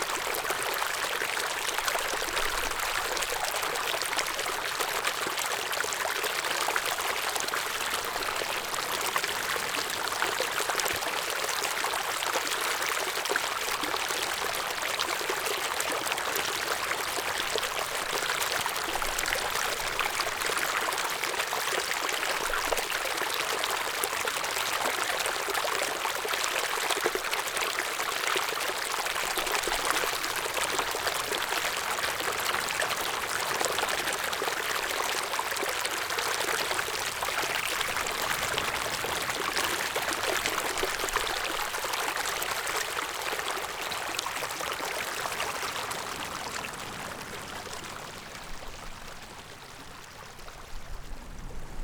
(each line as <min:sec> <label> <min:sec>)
0:00.0 Brook 0:51.8
0:00.0 waves 0:51.8